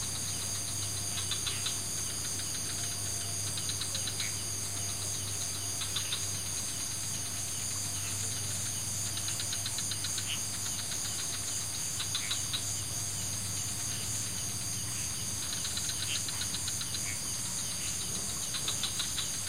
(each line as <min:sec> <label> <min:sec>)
0:00.0 Frogs 0:19.4
0:00.0 crickets 0:19.4